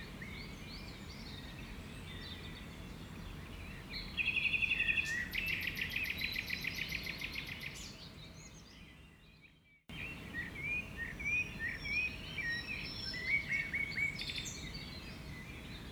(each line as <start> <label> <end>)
0.2 blackbirds 15.9